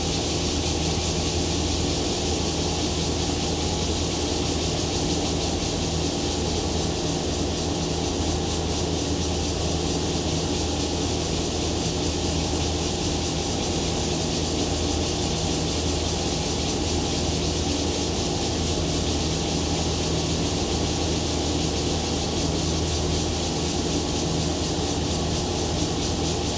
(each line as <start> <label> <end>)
0.0 Air-conditioning noise 26.5
0.0 Cicadas cry 26.5